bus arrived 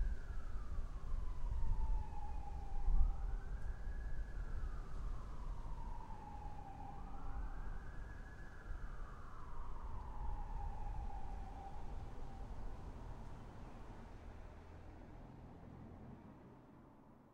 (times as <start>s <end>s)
11.2s 17.3s